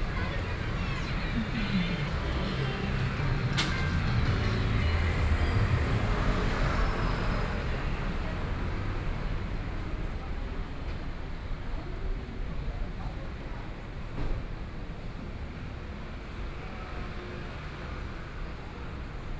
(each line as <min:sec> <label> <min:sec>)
0:00.0 walking on the Road 0:08.9
0:00.0 Traffic Sound 0:13.6
0:00.0 Various shops voices 0:19.3